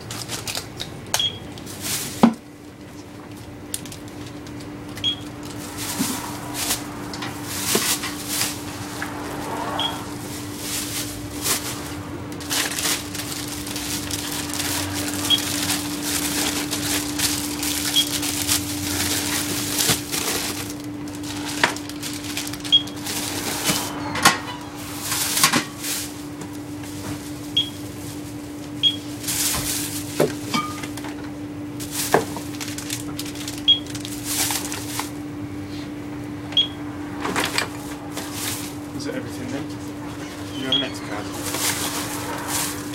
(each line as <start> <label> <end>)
1.2 scanning some items with a beep 1.5
3.2 items being packed into several bags 31.2
5.0 scanning some items with a beep 5.4
9.8 scanning some items with a beep 10.0
15.2 scanning some items with a beep 15.6
17.8 scanning some items with a beep 18.2
22.7 scanning some items with a beep 23.0
27.6 scanning some items with a beep 27.8
28.8 scanning some items with a beep 29.1
31.8 items being packed into several bags 35.2
33.6 scanning some items with a beep 34.0
36.6 scanning some items with a beep 36.8
37.2 items being packed into several bags 39.6
40.4 items being packed into several bags 42.9
40.5 scanning some items with a beep 41.2